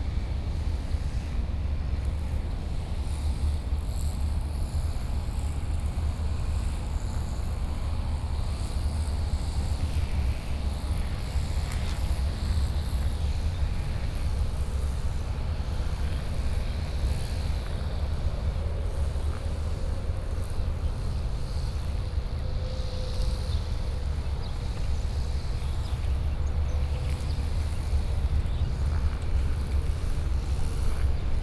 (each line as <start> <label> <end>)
10.6 Traffic noise 31.4
11.1 Walk in the park 31.4